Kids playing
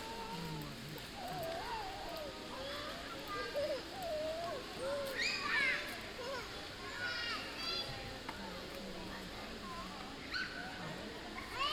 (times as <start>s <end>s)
1.2s 7.8s